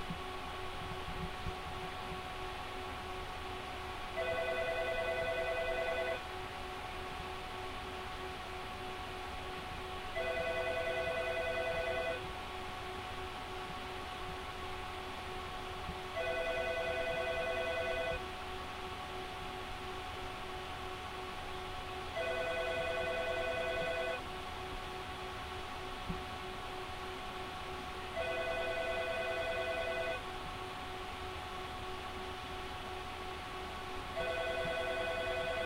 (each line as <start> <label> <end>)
0.0 nosie from the vents 35.6
4.2 phone 6.2
10.2 phone 12.2
16.2 phone 18.2
22.2 phone 24.2
28.2 phone 30.2
34.2 phone 35.6